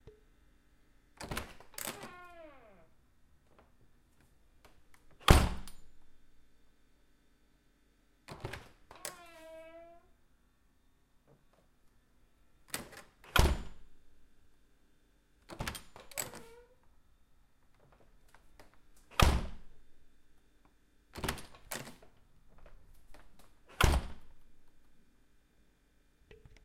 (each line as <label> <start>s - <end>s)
Door opening/closing 1.2s - 2.9s
Creak 1.8s - 2.9s
Door opening/closing 8.3s - 10.1s
Creak 8.9s - 10.1s
Door opening/closing 12.8s - 13.8s
Door opening/closing 15.5s - 16.8s
Door opening/closing 18.6s - 19.7s
Door opening/closing 21.2s - 24.4s